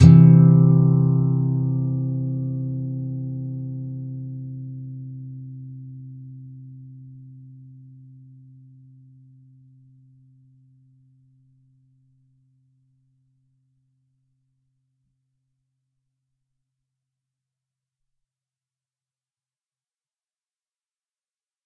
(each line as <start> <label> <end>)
0.0 nylon guitar 10.1